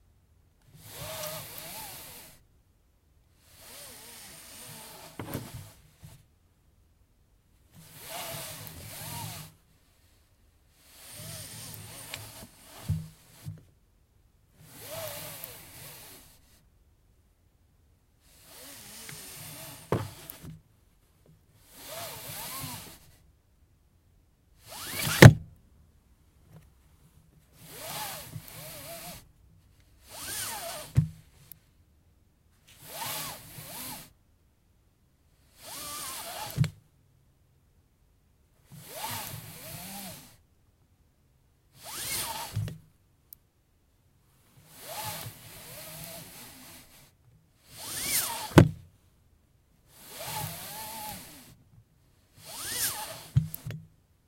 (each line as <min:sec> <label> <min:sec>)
0:03.8 Car Seatbelt Pull out and recoil 0:05.8
0:18.6 Car Seatbelt Pull out and recoil 0:20.6
0:24.7 Car Seatbelt Pull out and recoil 0:25.5
0:47.8 Car Seatbelt Pull out and recoil 0:48.8